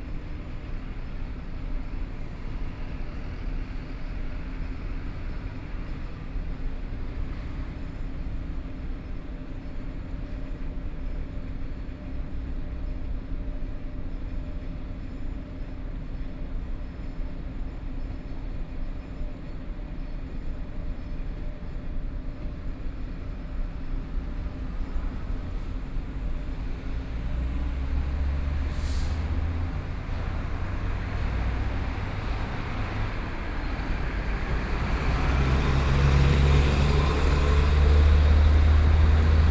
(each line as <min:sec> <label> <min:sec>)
0:22.5 Trains traveling through 0:39.5
0:23.6 Traffic Sound 0:39.5